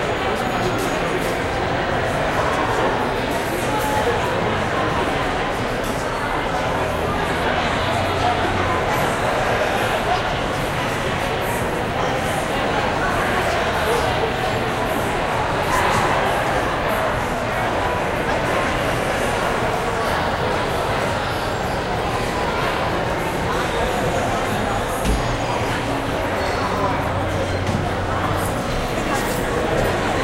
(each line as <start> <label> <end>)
0.0 large group of people, a crowd, interacting 30.2